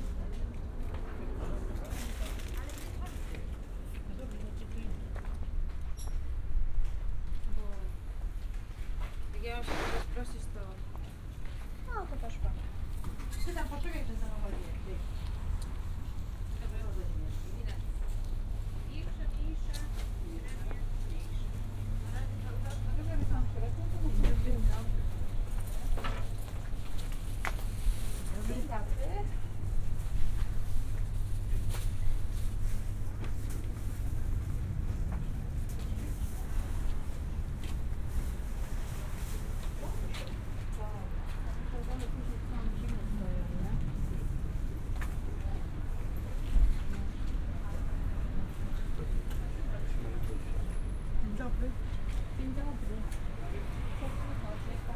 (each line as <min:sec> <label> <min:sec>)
0:00.0 noisy street 0:54.9